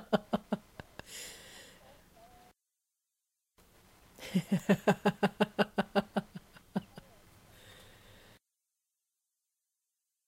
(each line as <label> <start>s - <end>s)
woman chuckling, giggling, and guffawing 0.0s - 1.1s
woman chuckling, giggling, and guffawing 4.2s - 7.3s